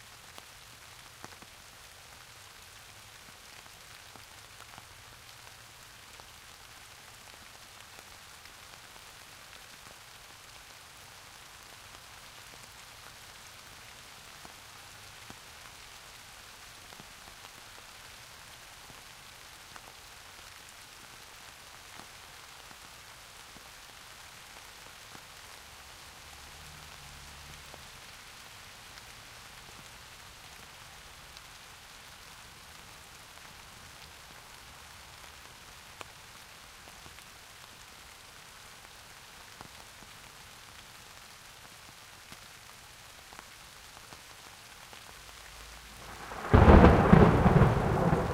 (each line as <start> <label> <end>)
0.0 rain 48.3
46.0 thunder 48.3